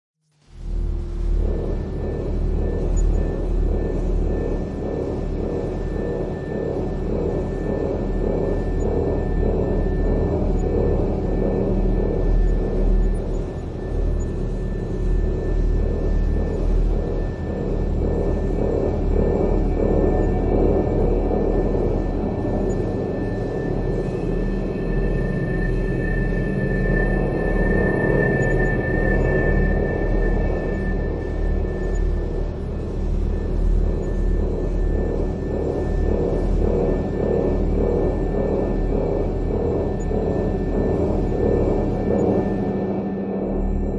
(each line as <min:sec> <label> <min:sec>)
0:00.3 Drone 0:43.9